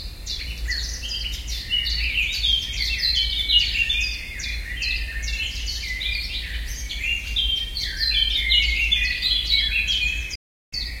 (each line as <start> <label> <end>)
0.0 blackcap song 11.0